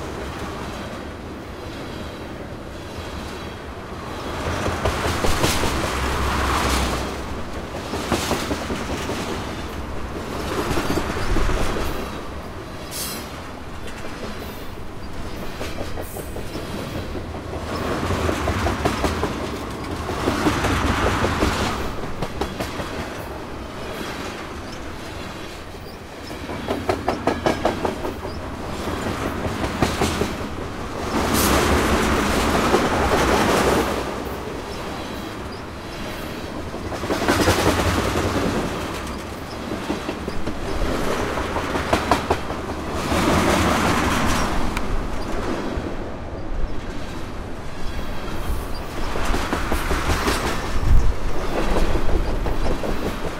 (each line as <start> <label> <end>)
0.0 Freight Train Pass Fast 53.3